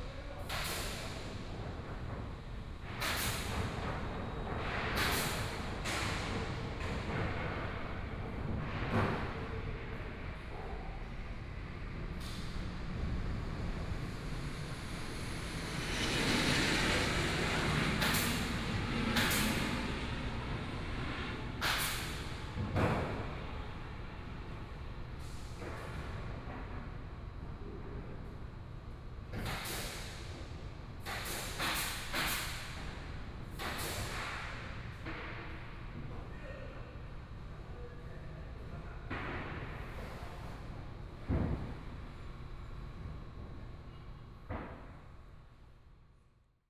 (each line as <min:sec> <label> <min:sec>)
0:00.0 Carpenter under construction 0:46.4
0:12.0 Aircraft flying through 0:22.6